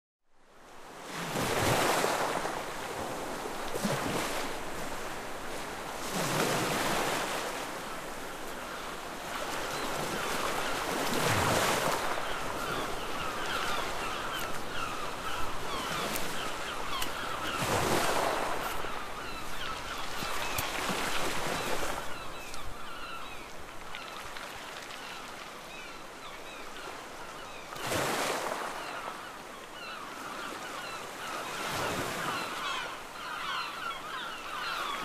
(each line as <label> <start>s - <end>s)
wind 0.2s - 35.0s
strong waves 0.6s - 35.0s
seagulls 8.7s - 24.3s
seagulls 24.9s - 35.0s